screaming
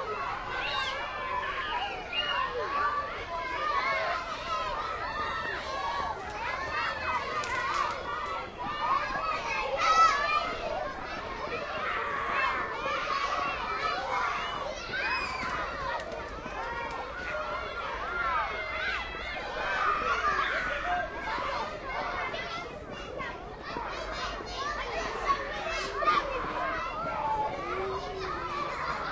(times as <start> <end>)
14.4 16.0